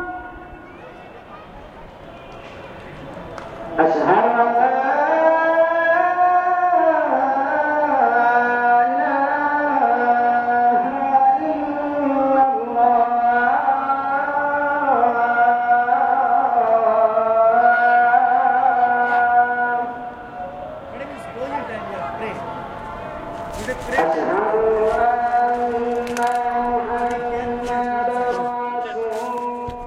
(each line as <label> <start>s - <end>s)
Call to Prayer 0.0s - 29.8s